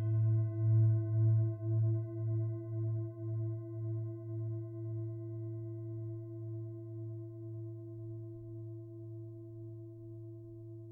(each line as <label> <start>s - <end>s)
Mixed Tibetan bowls, of different pitches 0.0s - 10.9s